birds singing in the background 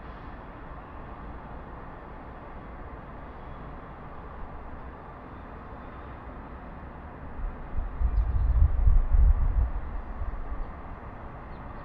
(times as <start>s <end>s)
2.9s 6.6s, 7.9s 8.8s, 10.2s 11.8s